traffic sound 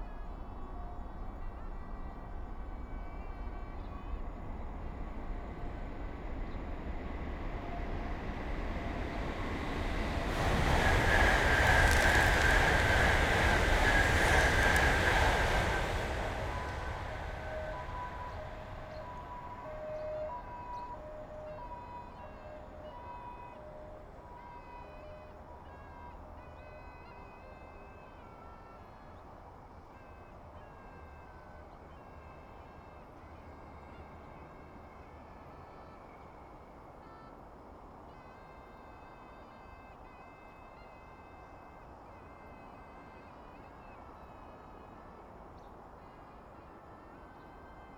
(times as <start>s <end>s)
4.4s 23.2s